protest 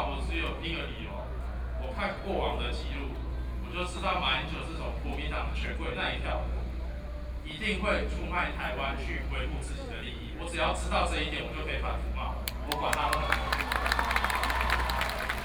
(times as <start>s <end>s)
12.5s 15.4s